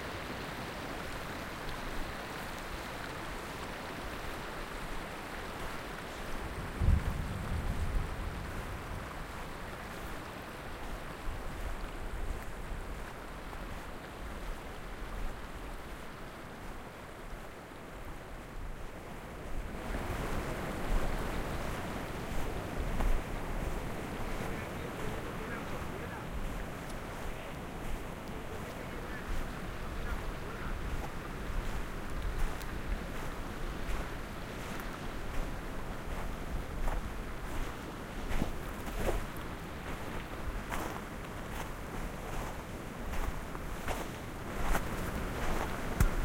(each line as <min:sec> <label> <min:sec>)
0:00.0 nearby stream 0:46.2
0:00.0 rumble of ice falling from a distant glacier front 0:46.2